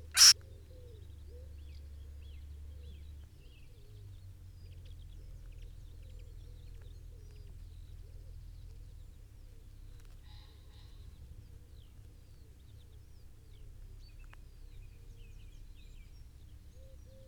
Mole 0:00.0 - 0:00.4

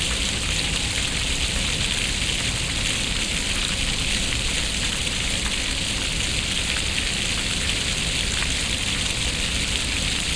water fountains 0:00.0 - 0:10.3

